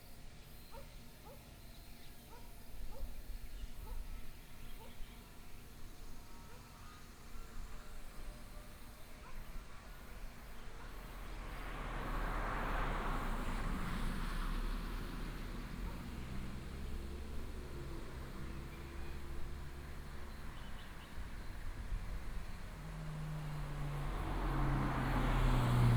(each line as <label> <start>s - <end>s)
traffic sound 9.2s - 25.9s